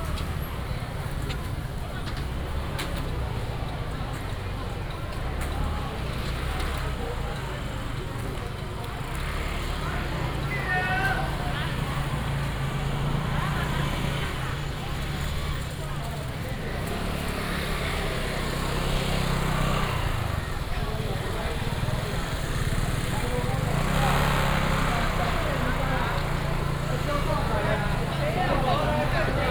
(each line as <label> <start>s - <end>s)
traffic sound 0.0s - 29.5s
vendors selling sound 9.0s - 29.5s